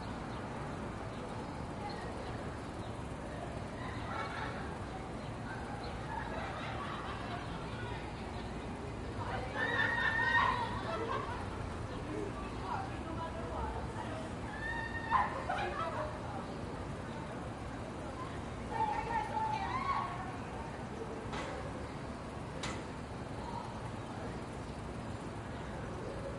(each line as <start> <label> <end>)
0.0 people 26.3
0.0 traffic 26.3